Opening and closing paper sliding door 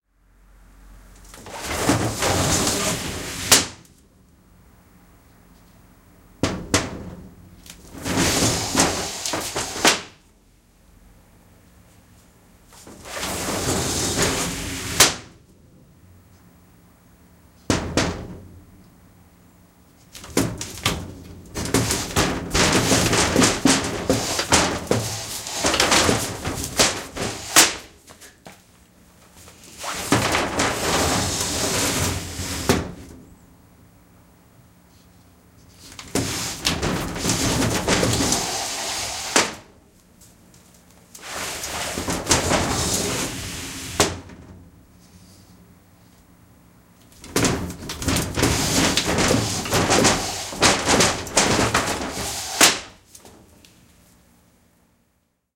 1.3s 3.9s, 6.4s 10.2s, 12.8s 15.4s, 20.1s 28.0s, 29.4s 33.2s, 35.6s 39.7s, 41.2s 44.6s, 47.0s 53.6s

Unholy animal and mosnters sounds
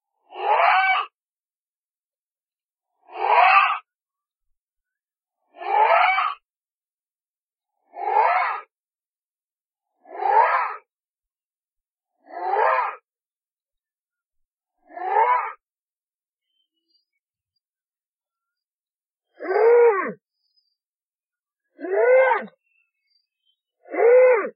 0.2s 1.2s, 2.9s 3.9s, 5.4s 6.4s, 7.8s 8.7s, 10.0s 10.9s, 12.2s 13.0s, 14.8s 15.6s, 19.3s 20.6s, 21.7s 24.5s

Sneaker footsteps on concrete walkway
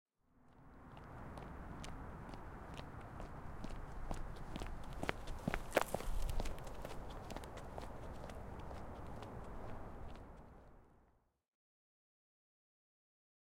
0.5s 10.8s

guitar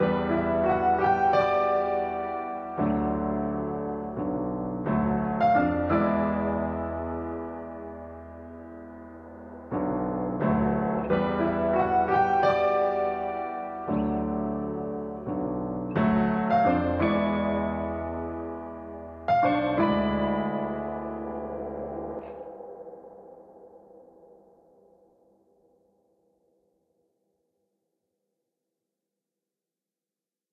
0.0s 22.4s

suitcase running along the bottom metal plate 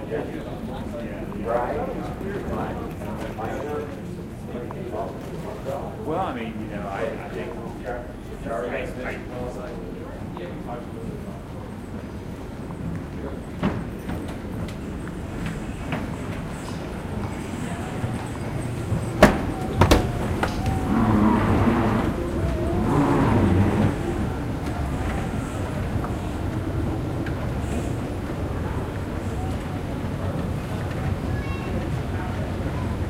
13.6s 27.7s

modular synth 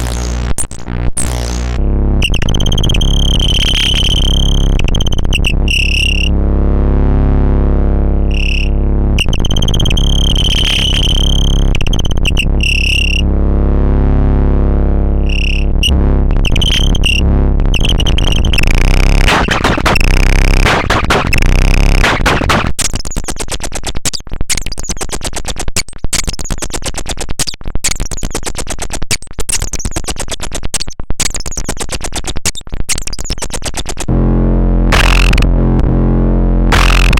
0.0s 20.1s

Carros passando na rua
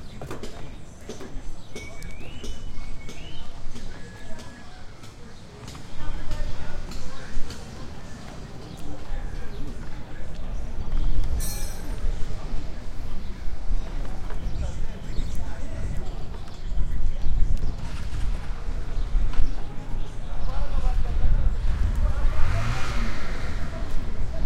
17.6s 24.4s

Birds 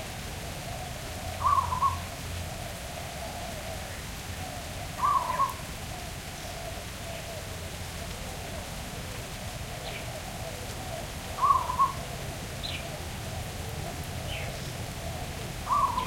0.6s 2.1s, 3.0s 7.5s, 11.4s 13.1s, 14.0s 16.0s

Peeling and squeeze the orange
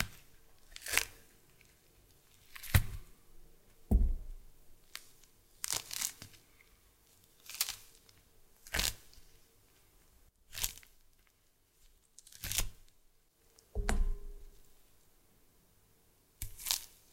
0.0s 3.0s, 4.8s 9.4s, 10.5s 11.0s, 12.0s 12.9s, 16.4s 17.1s

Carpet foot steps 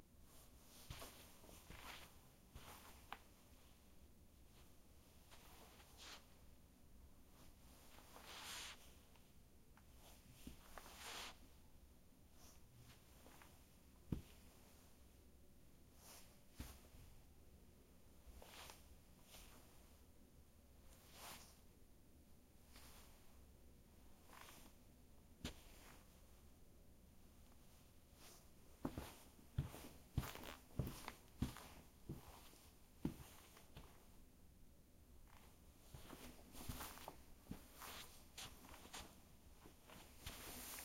0.8s 3.3s, 14.1s 14.4s, 28.8s 34.0s, 35.3s 40.8s

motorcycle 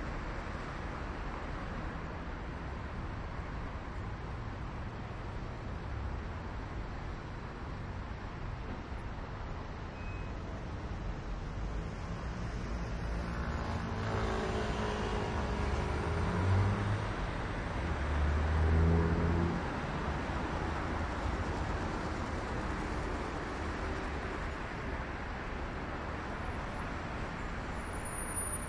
12.7s 17.0s

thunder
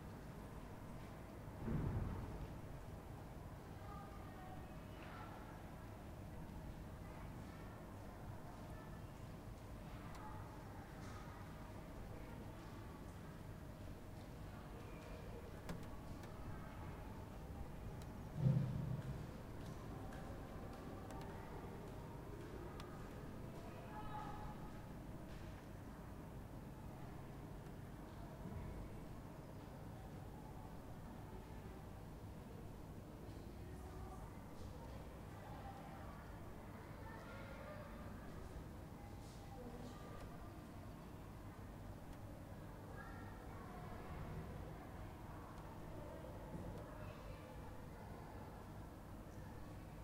1.6s 2.5s, 18.4s 19.1s

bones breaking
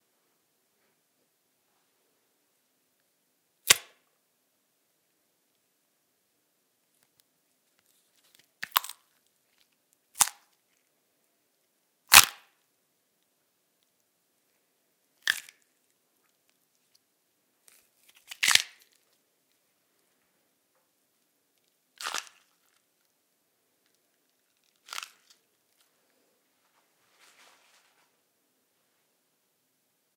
3.7s 3.9s, 8.6s 9.0s, 10.2s 10.5s, 12.1s 12.5s, 15.2s 15.6s, 18.0s 19.0s, 22.0s 22.5s, 24.6s 25.4s

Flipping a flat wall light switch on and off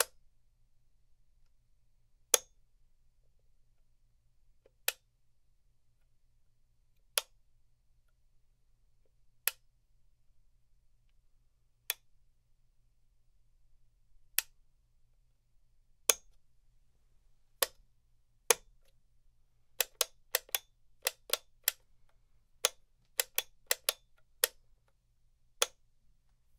0.0s 0.3s, 2.3s 2.6s, 4.6s 5.1s, 7.0s 7.4s, 9.4s 9.7s, 11.8s 12.2s, 14.3s 14.6s, 16.0s 16.4s, 17.6s 17.8s, 18.4s 19.0s, 19.7s 25.9s

